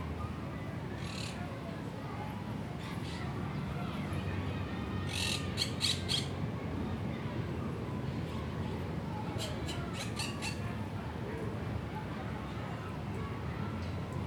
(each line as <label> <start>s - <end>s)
children playing 2.1s - 9.4s
children playing 11.7s - 14.2s